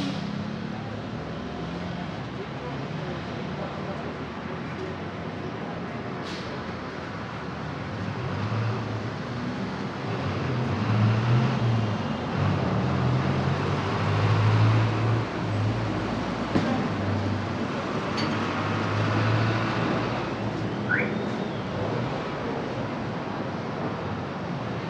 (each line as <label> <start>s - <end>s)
Traffic of cars and buses accelerating 0.0s - 24.8s
truck engines 0.0s - 24.8s
car alarm 20.9s - 21.2s
car whistles 20.9s - 21.7s